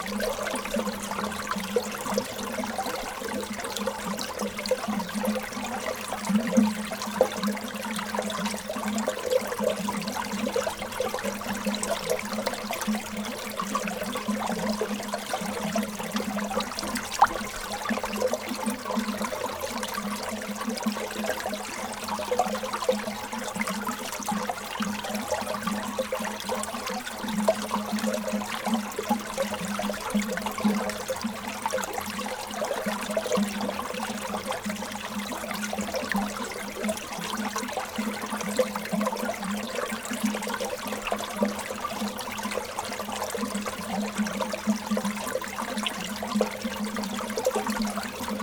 0.0s water flowing in a tube 48.4s

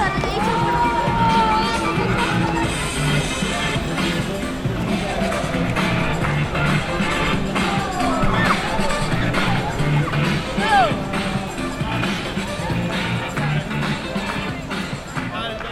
0.0s hip hop dancer 15.7s

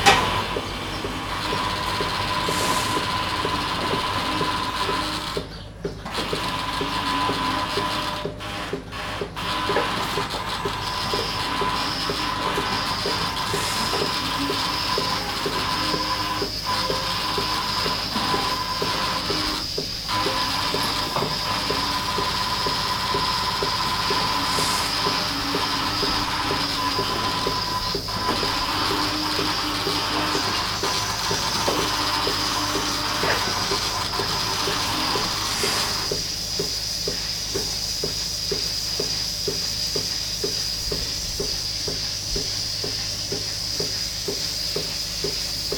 0.0s milking robot 45.7s

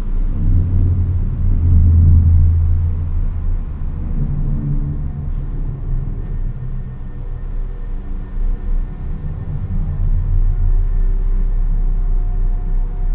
2.9s train arrives and leaves 13.1s

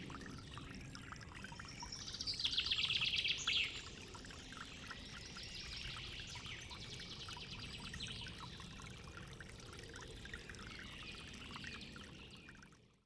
0.0s source of a little creek 13.0s

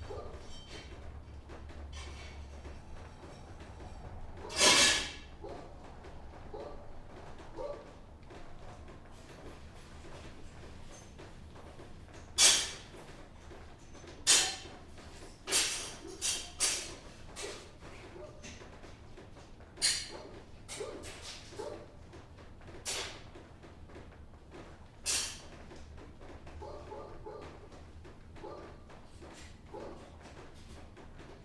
22.8s Rubbing ash from a house fire 23.4s

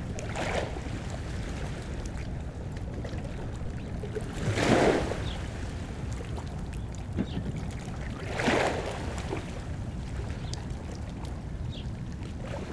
0.0s water 12.7s
6.8s birds 7.6s

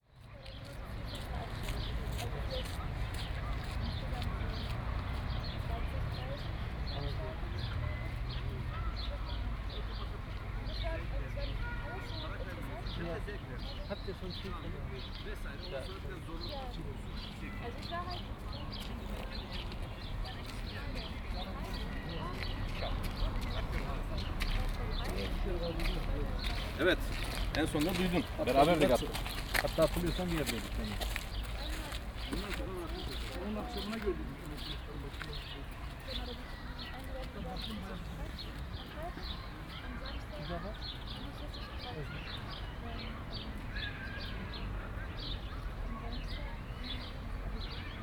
0.2s people talking 44.6s
17.7s steps 39.4s
45.6s people talking 48.0s

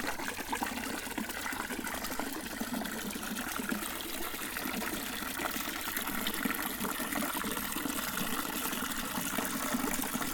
0.0s water fountain 10.3s

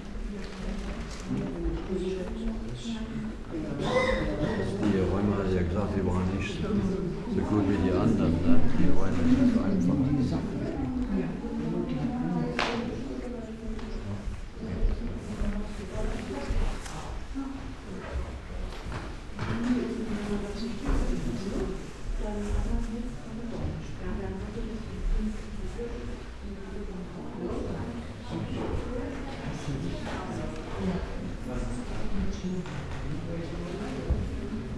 0.0s whisperings 18.6s
0.0s plastic raincoats 2.3s
0.0s slow walk through rooms with different kind of wooden floors and parquet 3.6s
8.9s slow walk through rooms with different kind of wooden floors and parquet 22.9s

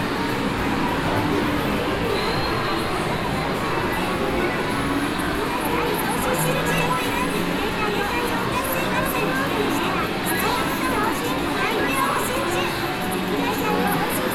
0.0s pop music trying to come through 14.3s

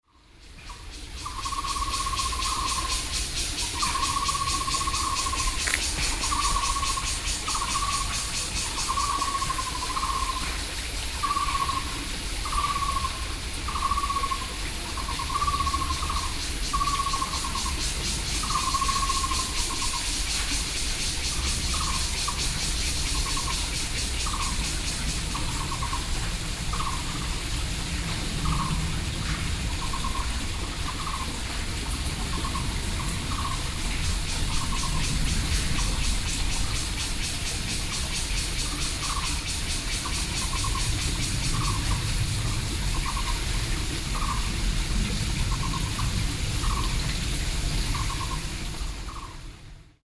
0.0s Cicadas called 50.0s
0.0s frogs 50.0s
6.6s Aircraft 50.0s

